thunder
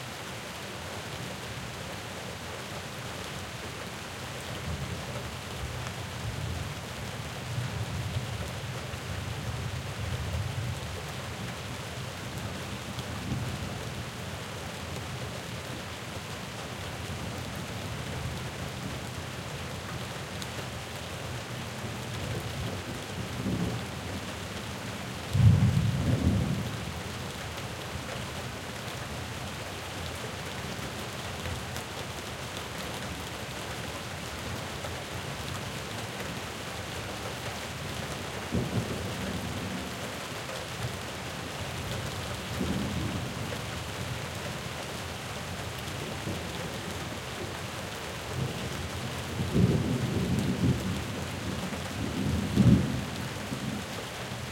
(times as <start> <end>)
25.4 26.7